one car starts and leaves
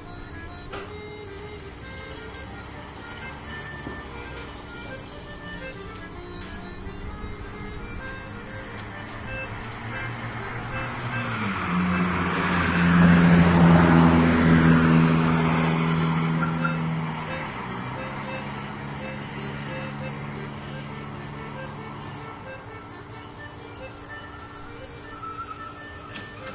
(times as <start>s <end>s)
22.8s 26.5s